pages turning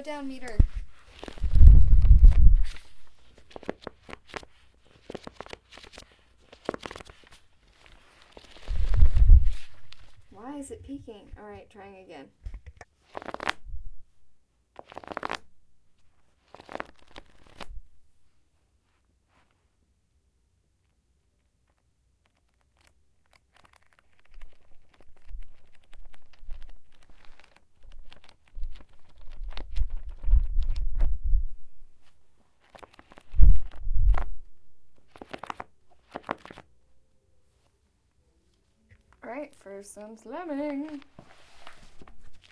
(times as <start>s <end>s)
0.0s 10.3s, 13.0s 13.6s, 14.8s 17.8s, 21.7s 31.2s, 32.0s 36.7s, 40.4s 42.5s